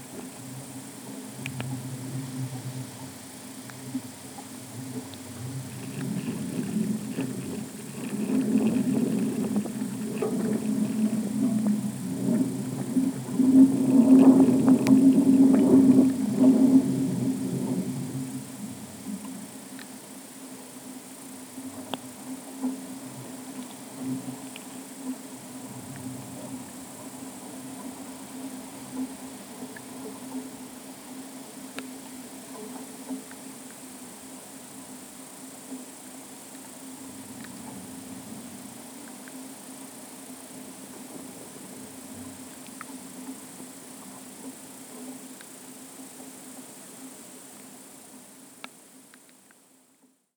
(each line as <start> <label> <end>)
0.0 wind 50.1